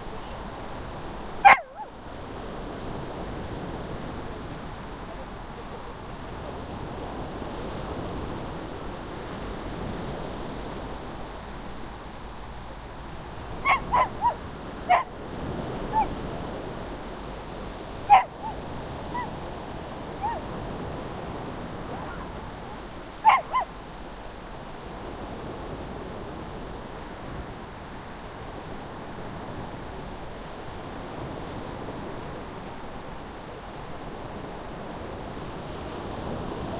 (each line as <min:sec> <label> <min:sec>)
0:00.0 waves 0:36.7
0:01.4 dog barking 0:02.0
0:13.6 dog barking 0:15.2
0:15.9 dog barking 0:16.2
0:18.0 dog barking 0:19.4
0:20.2 dog barking 0:20.5
0:21.9 dog barking 0:23.8